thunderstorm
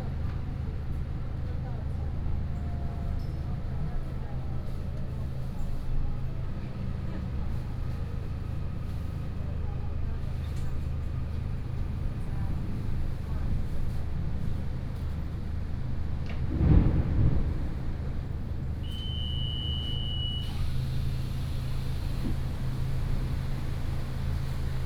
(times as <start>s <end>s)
16.0s 19.0s